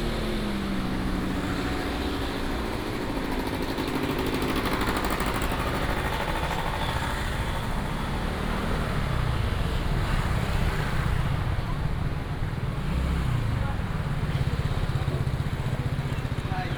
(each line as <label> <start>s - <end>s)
Traffic sound 0.0s - 16.7s